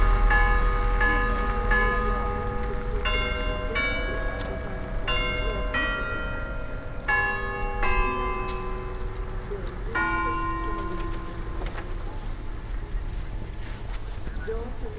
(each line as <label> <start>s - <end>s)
Town Hall bells 0.0s - 14.9s